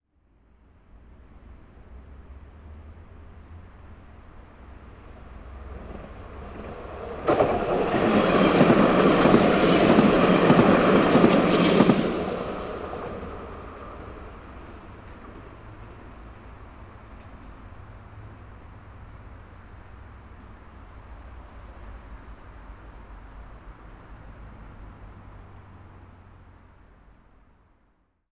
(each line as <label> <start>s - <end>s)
traffic from the surrounding city 0.3s - 9.6s
Tram passing by 0.6s - 27.4s
traffic from the surrounding city 10.5s - 28.0s